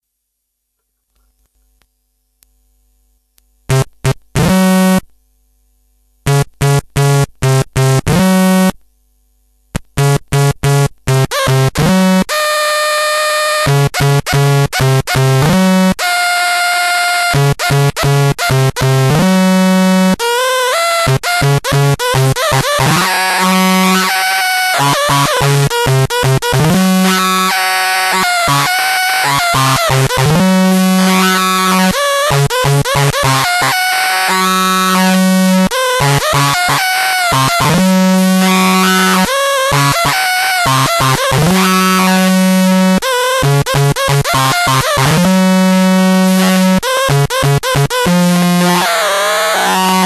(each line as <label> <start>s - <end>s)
distorted, howling glitchy feedback 22.3s - 25.8s
distorted, howling glitchy feedback 26.5s - 43.2s
distorted, howling glitchy feedback 47.7s - 50.0s